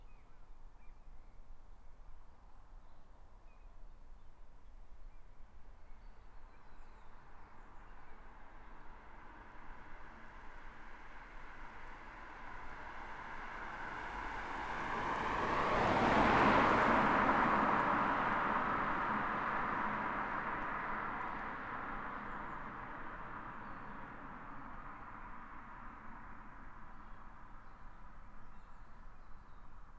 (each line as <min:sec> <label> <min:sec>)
0:05.0 highway 0:29.9
0:06.4 A few cars pass on the right 0:29.9